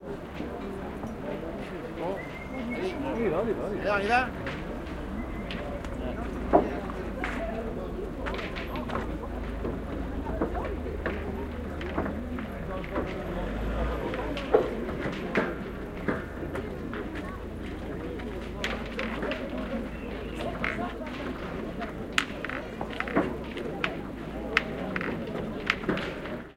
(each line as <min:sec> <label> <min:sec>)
0:02.1 whistle 0:02.9